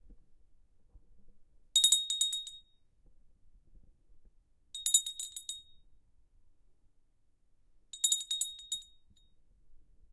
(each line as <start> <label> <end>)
1.8 Ringing of a small bell 2.8
4.8 Ringing of a small bell 5.9
7.9 Ringing of a small bell 9.4